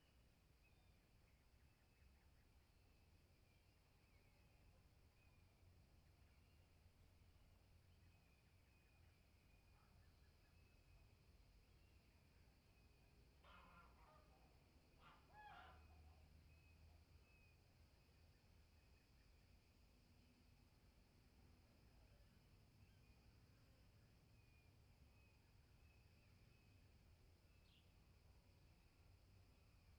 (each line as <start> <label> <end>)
0.0 distant birds 19.8
0.0 cicadas 29.9